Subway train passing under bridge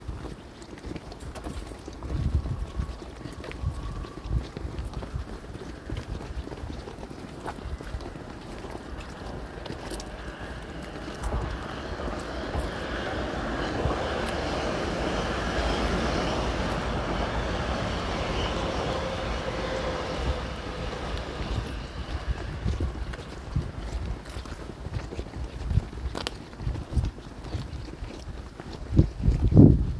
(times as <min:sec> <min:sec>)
0:08.8 0:23.8